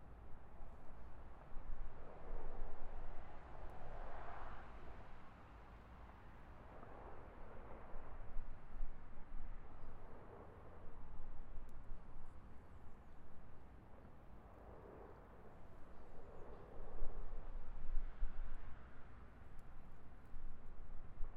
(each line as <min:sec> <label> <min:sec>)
0:00.0 highway in the distance 0:21.3